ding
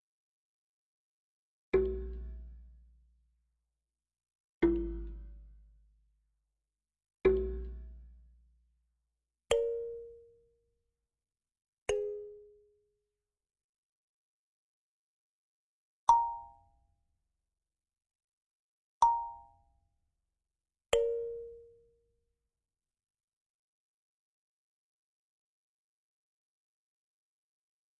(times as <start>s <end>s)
19.0s 19.6s